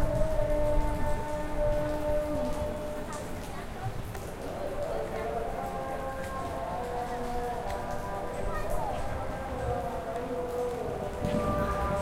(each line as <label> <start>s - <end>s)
Light rain 0.0s - 12.0s
kids playing in the streets 0.0s - 12.0s
thunder 11.2s - 12.0s